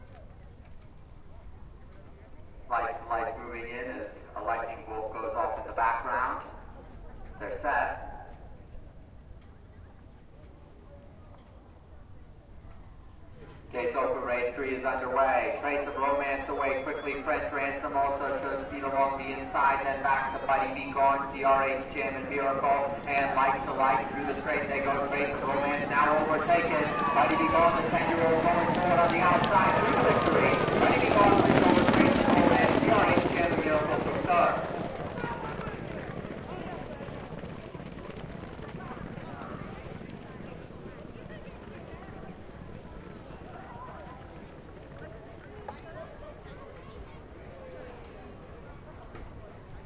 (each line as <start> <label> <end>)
12.6 horses walking by 47.1
12.9 crowd sounds 49.8